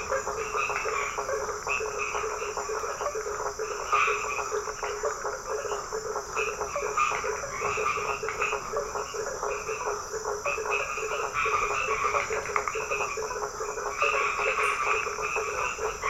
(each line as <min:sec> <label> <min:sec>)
0:00.0 Toads singing 0:16.0